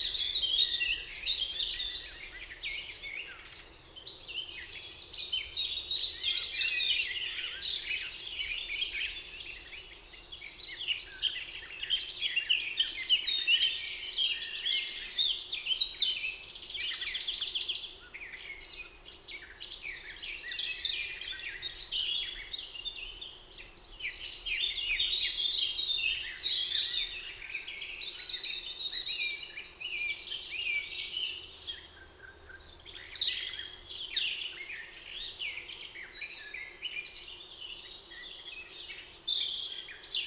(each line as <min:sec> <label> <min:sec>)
0:00.0 Common blackbird 0:40.2
0:00.0 Common robin 0:40.2
0:00.0 Eurasian Blackcap 0:40.2